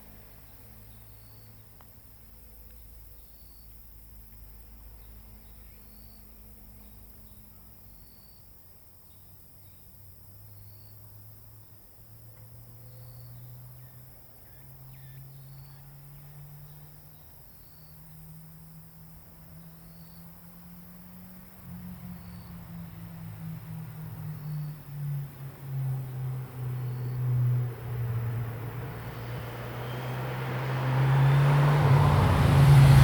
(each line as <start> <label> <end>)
15.8 traffic sound 33.0
17.1 Cicada sound 33.0